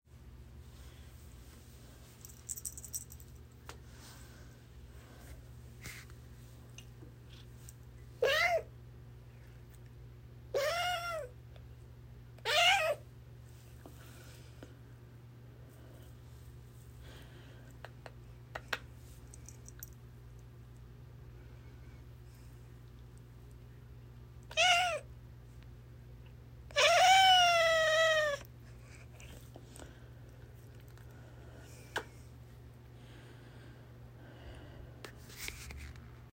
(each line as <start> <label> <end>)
8.2 Cat Meowing 8.7
10.6 Cat Meowing 11.3
12.4 Cat Meowing 13.0
24.5 Cat Meowing 25.0
26.7 Cat Meowing 28.5